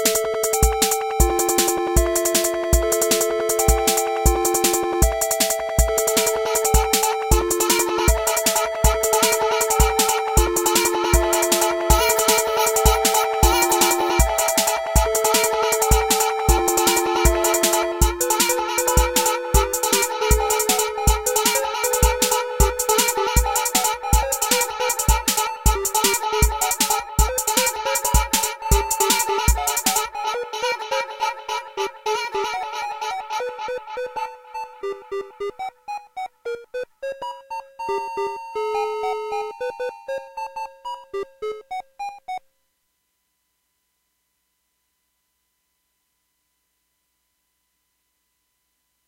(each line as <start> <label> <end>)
0.0 tr606 32.5
0.0 synth 37.2
1.3 vocal 35.4